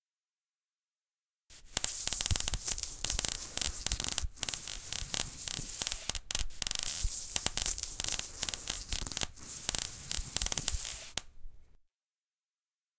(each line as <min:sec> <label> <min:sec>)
0:01.5 welding 0:11.2